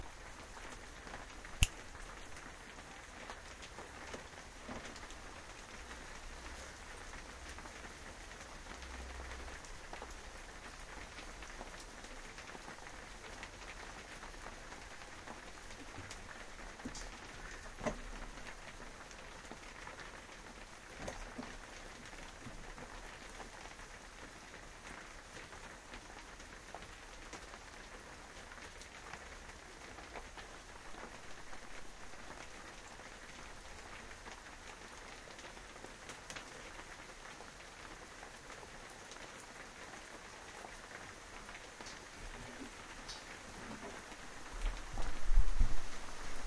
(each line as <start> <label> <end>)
0.0 Rain 46.4